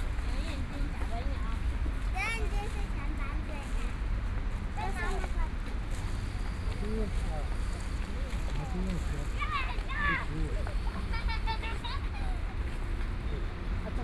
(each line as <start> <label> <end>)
0.0 walking in the street 14.0